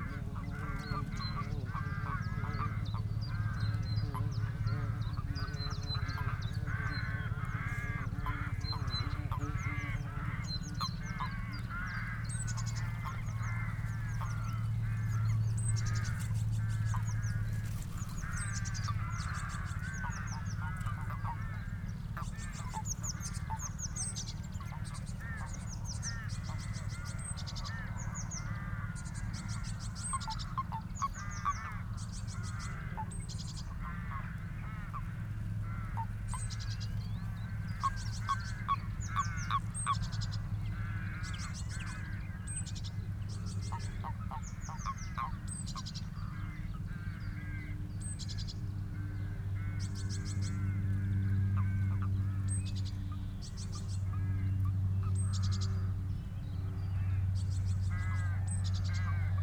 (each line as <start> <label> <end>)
0.0 Bees 21.2
0.0 common frogs spawning at the edge of the canal 56.1
0.0 Moorhen 59.4
0.0 Willow warbler 59.4